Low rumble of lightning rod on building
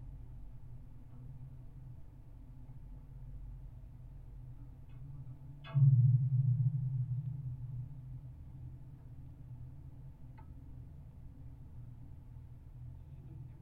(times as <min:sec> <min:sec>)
0:05.6 0:10.2